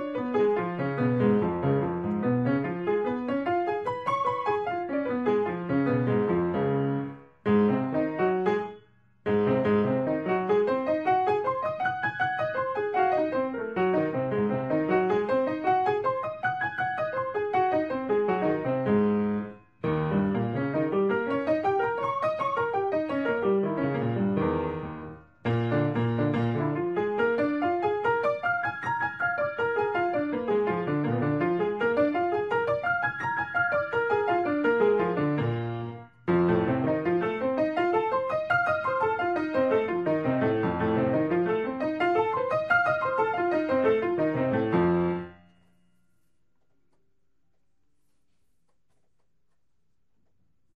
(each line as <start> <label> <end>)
0.0 Piano 47.2